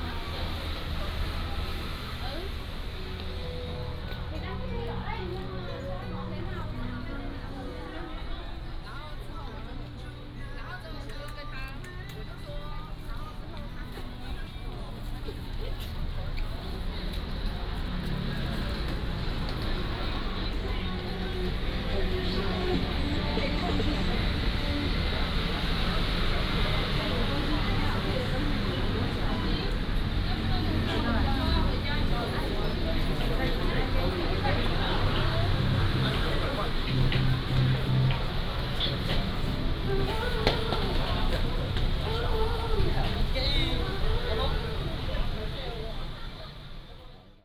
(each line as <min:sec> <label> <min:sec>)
0:00.0 Various store sounds 0:47.3
0:00.0 Traffic sound 0:47.4
0:00.0 Walking in the shopping street 0:47.4